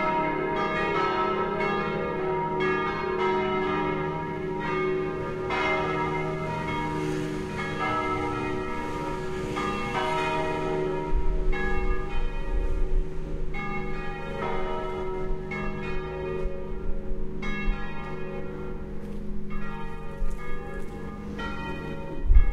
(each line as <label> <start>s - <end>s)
Church Bells 0.0s - 22.5s